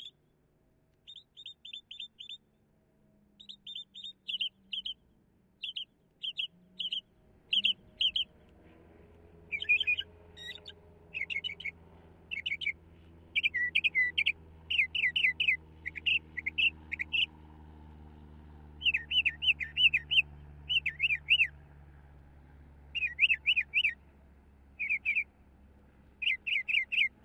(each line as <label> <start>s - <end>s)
Northern Mockingbird's various different calls 0.0s - 0.2s
Northern Mockingbird's various different calls 1.0s - 2.4s
Northern Mockingbird's various different calls 3.4s - 5.0s
Northern Mockingbird's various different calls 5.6s - 8.4s
Northern Mockingbird's various different calls 9.5s - 12.8s
Northern Mockingbird's various different calls 13.4s - 17.3s
Northern Mockingbird's various different calls 18.8s - 21.5s
Northern Mockingbird's various different calls 22.9s - 24.0s
Northern Mockingbird's various different calls 24.8s - 25.3s
Northern Mockingbird's various different calls 26.1s - 27.2s